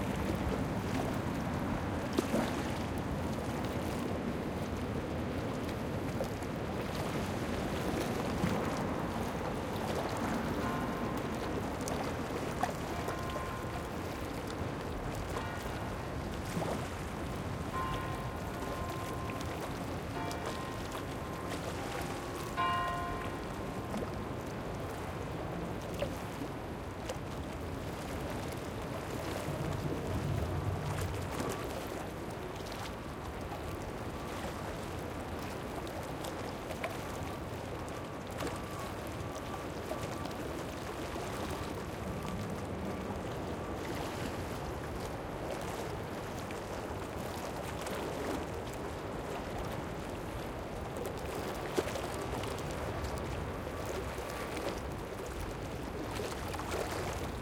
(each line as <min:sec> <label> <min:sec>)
0:07.8 Clapotis de la mer sur le quai en pierre 0:27.2